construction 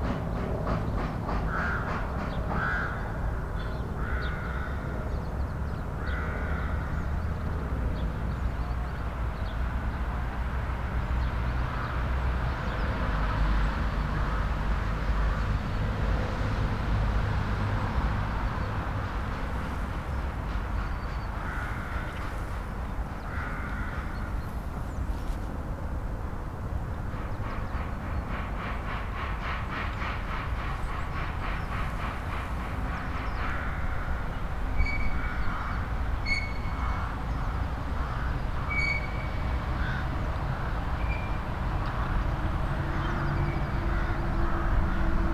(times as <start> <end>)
0.0 2.6, 27.0 35.2